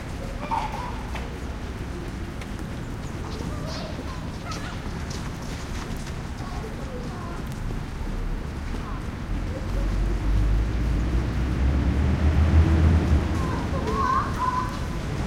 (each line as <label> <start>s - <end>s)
light rain almost mist 0.0s - 15.2s
traffic 0.0s - 15.2s
kids 13.0s - 15.2s